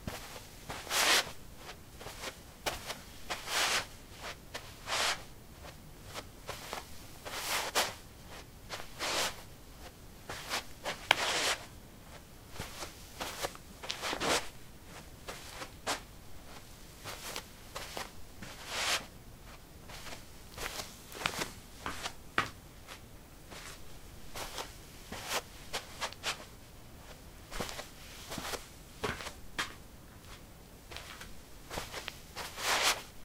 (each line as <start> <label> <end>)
10.3 footsteps 26.5
27.1 footsteps 33.1